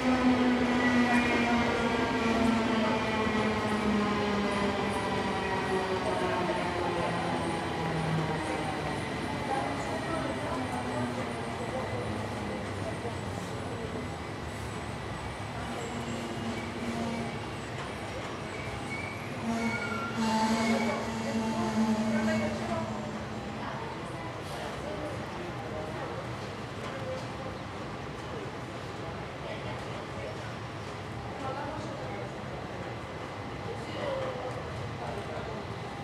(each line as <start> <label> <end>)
0.0 train entering station 36.0
20.2 announcements from the station 24.3